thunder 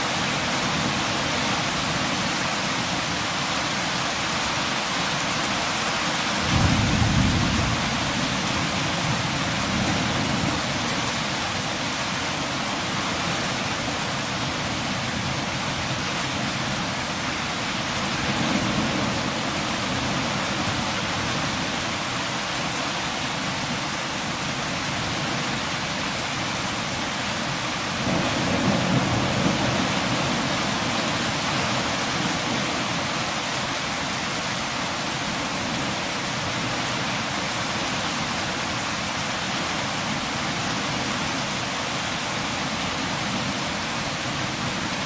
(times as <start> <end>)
6.5 8.8